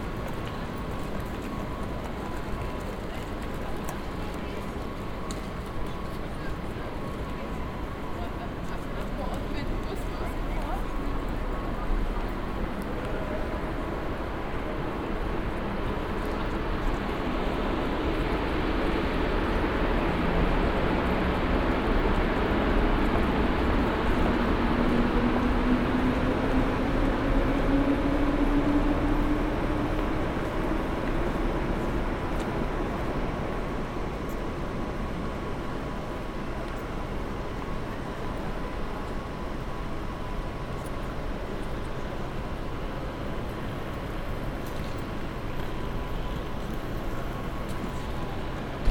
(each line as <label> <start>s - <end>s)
trains drive in and out 0.0s - 48.9s